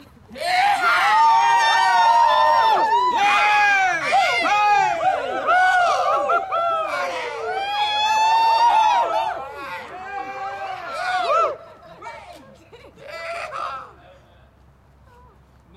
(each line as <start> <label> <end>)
0.4 group of people (+/- 7 persons) cheering 12.2